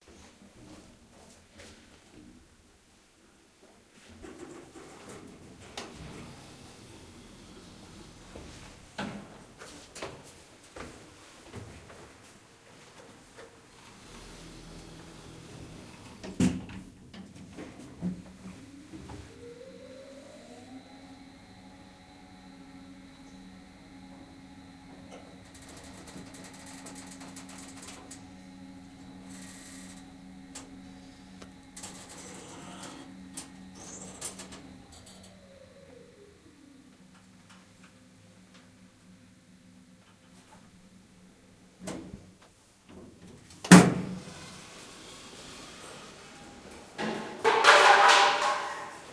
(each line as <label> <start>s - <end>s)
hydraulics 17.6s - 41.0s
Lift opening and closing 18.2s - 38.0s